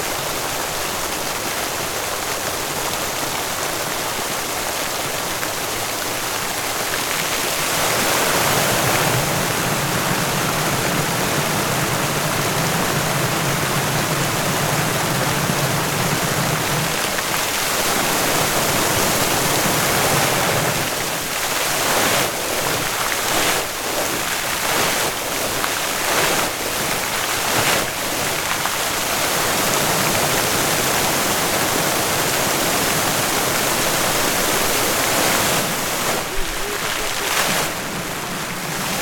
Dancing fountain 0:00.0 - 0:39.0

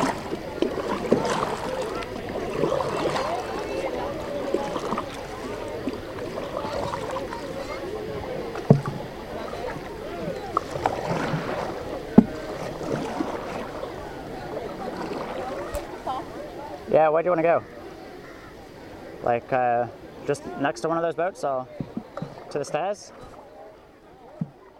Rowing on this beautiful lake in a wooden boat 0:00.0 - 0:24.7
lots of voices 0:00.0 - 0:24.7

